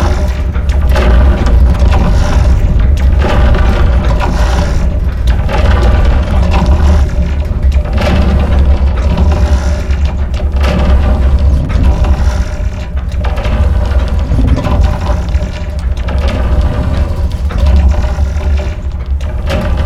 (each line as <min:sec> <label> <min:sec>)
0:00.0 metallic sounds 0:19.8
0:00.0 wind 0:19.8